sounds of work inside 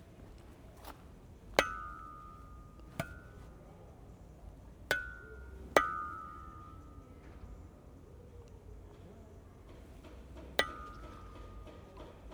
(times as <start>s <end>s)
8.2s 12.3s